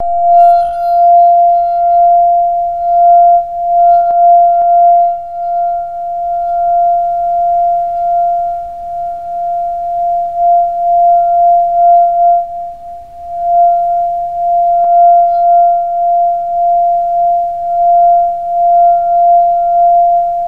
wet finger rubbing on the outside edge of a crystal wine glass 0:00.0 - 0:06.9

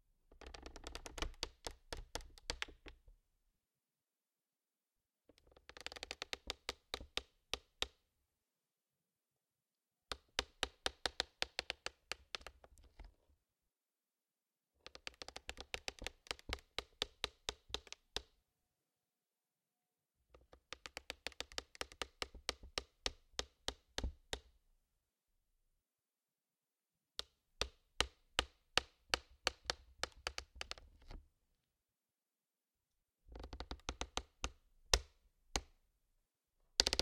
Plastic Creak 0:00.3 - 0:01.4
Plastic Creak 0:36.8 - 0:37.0

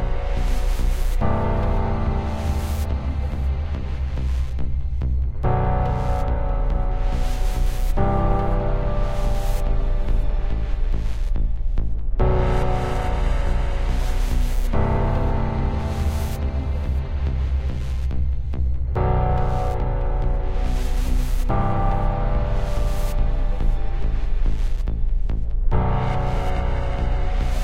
Psychopath Music 0:00.0 - 0:27.6

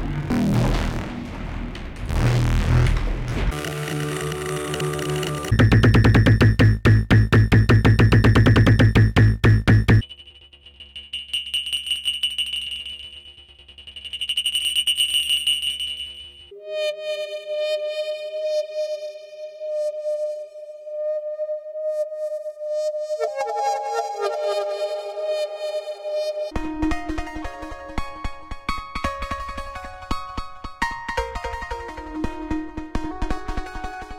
glitchy, percussive, experimental, modular snippets 0:00.0 - 0:16.5

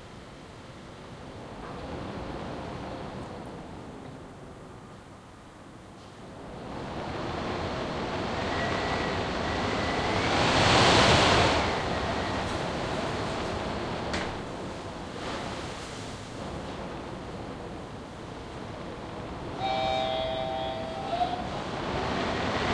storm howling inside the lift shaft 0:00.0 - 0:22.7

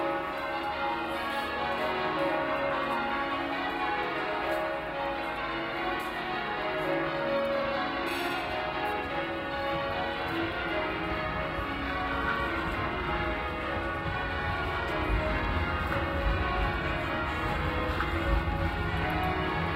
Cathedral bells repeating over and over 0:00.0 - 0:19.7

